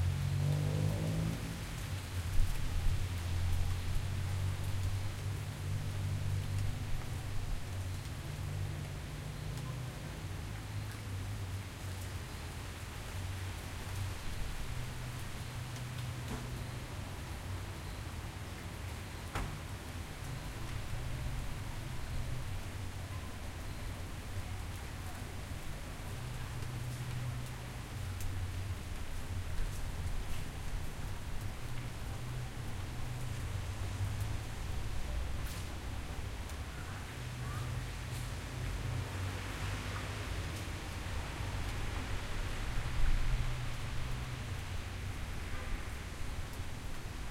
car passing by 0:00.0 - 0:04.8
raining over pavement 0:00.0 - 0:47.3

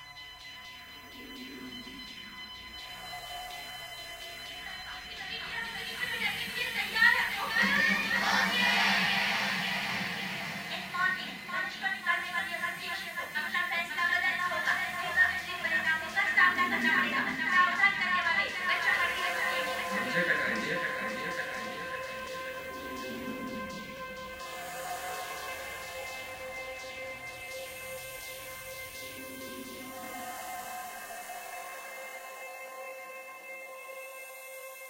Music 0:00.0 - 0:34.8

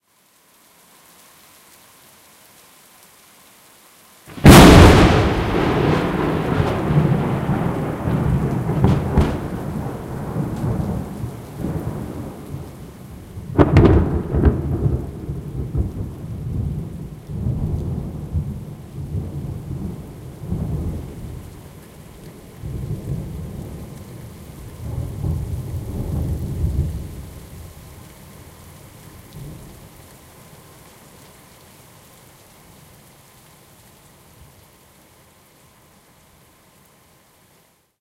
rain 0:00.0 - 0:38.0
Lightning hitting a tree 0:04.3 - 0:21.4

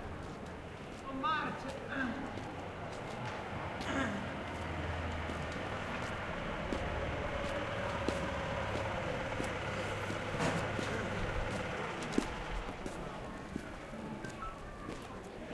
crowd 0:09.7 - 0:15.5

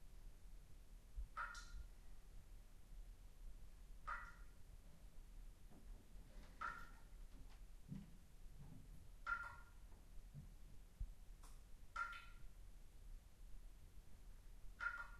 slow-drip of water droplets 0:01.3 - 0:01.9
slow-drip of water droplets 0:11.4 - 0:12.4

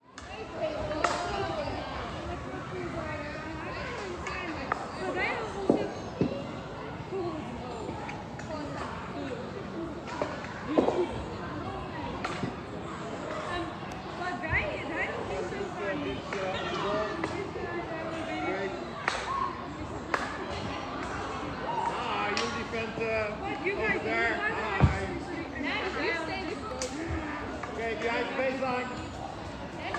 girls hockey training 0:00.1 - 0:29.9
male coach 0:21.7 - 0:25.1
male coach 0:27.6 - 0:29.2

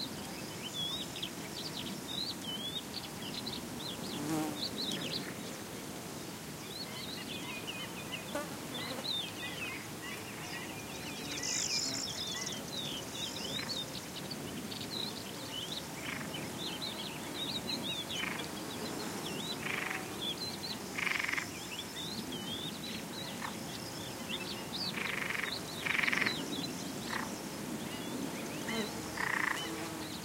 bee 0:02.8 - 0:30.2
fly 0:03.2 - 0:06.3
fly 0:06.9 - 0:30.2
frog 0:21.0 - 0:21.6
frog 0:25.0 - 0:26.4
frog 0:27.1 - 0:27.3
frog 0:29.2 - 0:29.6

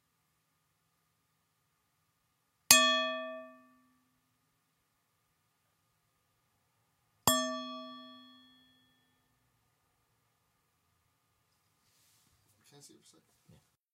Tibetan singing bowl being tapped 0:02.7 - 0:04.0
Tibetan singing bowl being tapped 0:07.3 - 0:09.0

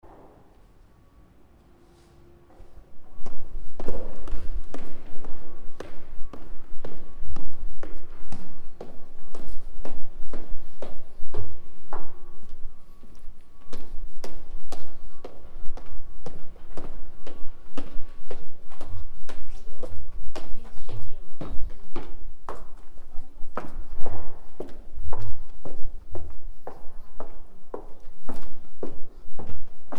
Footsteps descending the stairs 0:01.6 - 0:29.9

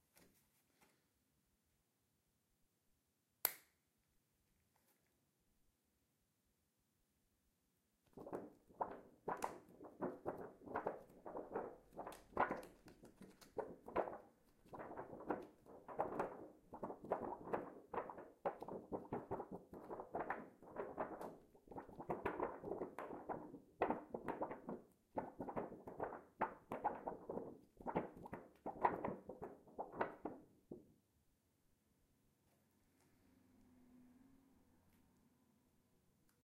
laminated document being flopped 0:08.1 - 0:30.6

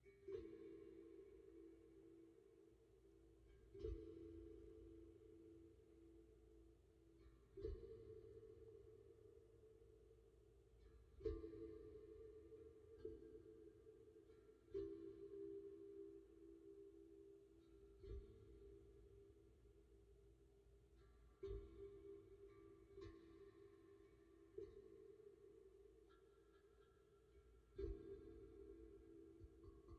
Handpan 0:00.0 - 0:10.1
Handpan 0:10.8 - 0:19.8
Handpan 0:20.9 - 0:29.9

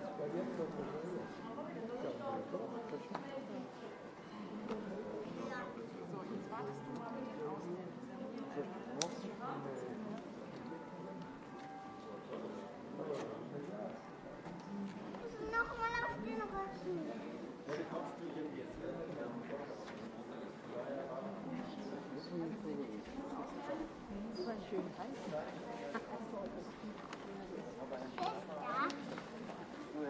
Tourists 0:00.0 - 0:30.0
child 0:15.2 - 0:17.0
child 0:28.2 - 0:29.1

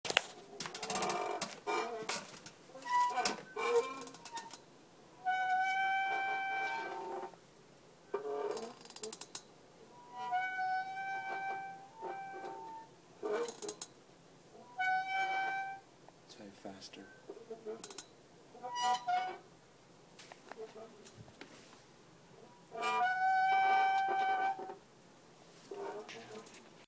Squeaky mechanical sounds of an old office chair 0:00.6 - 0:04.6
Squeaky mechanical sounds of an old office chair 0:05.2 - 0:07.4
Squeaky mechanical sounds of an old office chair 0:08.1 - 0:13.9
Squeaky mechanical sounds of an old office chair 0:14.6 - 0:15.8
Squeaky mechanical sounds of an old office chair 0:17.3 - 0:19.4
Squeaky mechanical sounds of an old office chair 0:22.6 - 0:24.8
Squeaky mechanical sounds of an old office chair 0:25.7 - 0:26.8

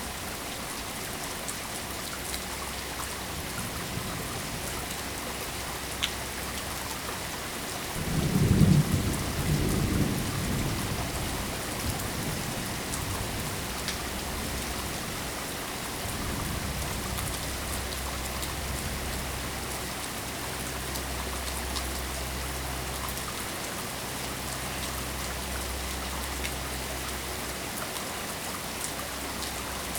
rain running off a roof 0:00.0 - 0:29.9
distant thunder 0:08.0 - 0:15.0

